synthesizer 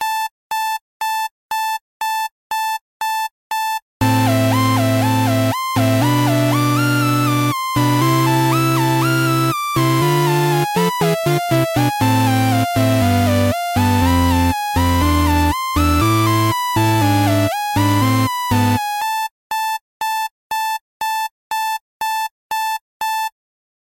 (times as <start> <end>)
4.0 19.1